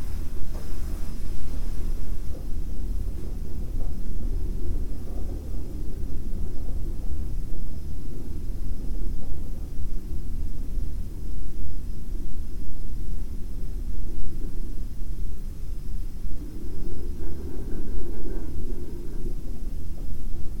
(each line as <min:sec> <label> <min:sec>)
0:00.0 wind coming from the ventilation 0:20.6